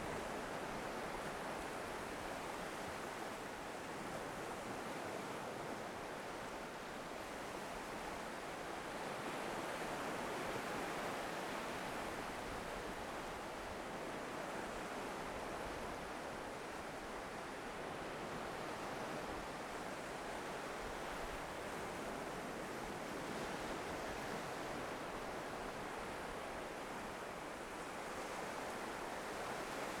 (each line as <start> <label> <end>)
0.0 Waves 30.0